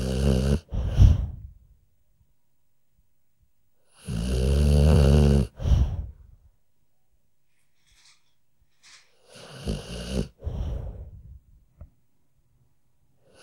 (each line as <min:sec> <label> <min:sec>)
0:00.0 dog snoring 0:01.4
0:03.9 dog snoring 0:06.1
0:09.2 dog snoring 0:11.0